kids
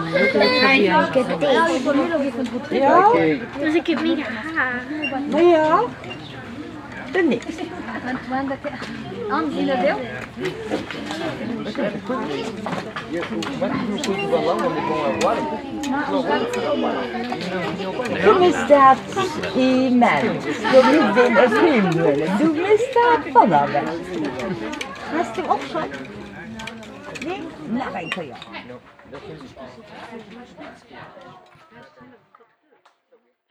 0:00.0 0:19.4

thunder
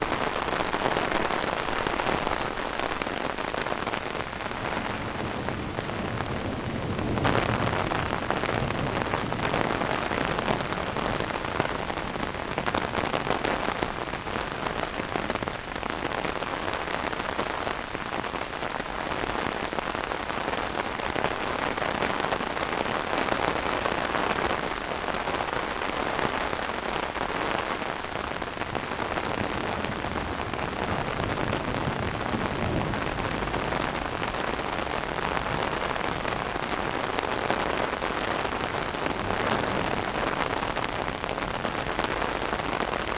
0:04.4 0:13.5, 0:28.6 0:43.1

